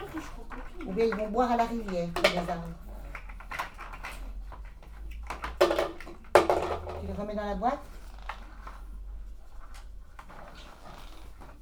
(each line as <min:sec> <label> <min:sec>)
0:00.0 Children 0:06.6